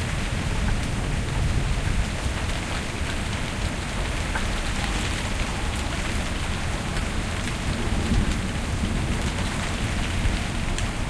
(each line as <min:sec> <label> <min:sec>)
0:00.0 Heavy raindrops 0:11.0